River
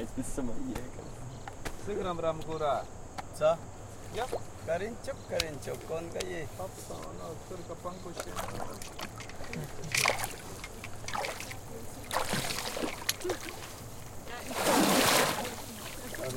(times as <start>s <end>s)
7.6s 16.3s